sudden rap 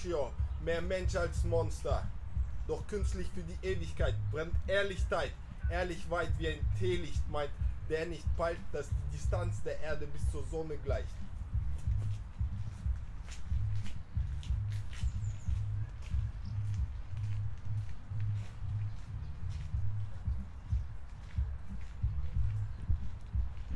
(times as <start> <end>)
0.0 17.4